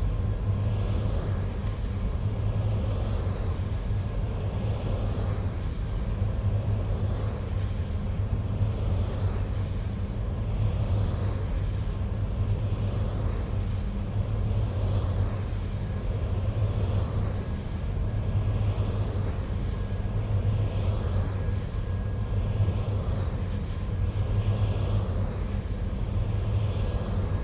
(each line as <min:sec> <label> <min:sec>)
0:00.0 rotating humming generator 0:27.4
0:00.0 sky and wood larks 0:27.4